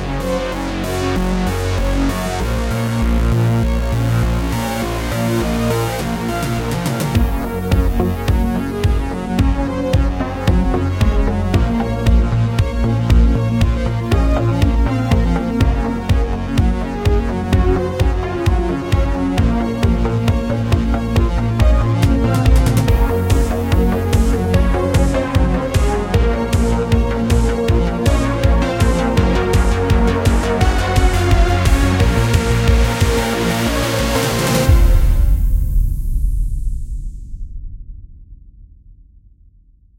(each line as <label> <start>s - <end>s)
cinematic music track that speeds up over time 0.0s - 38.7s